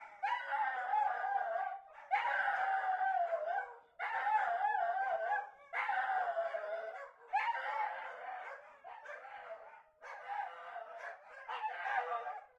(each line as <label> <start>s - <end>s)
Dogs howling and barking 0.0s - 12.5s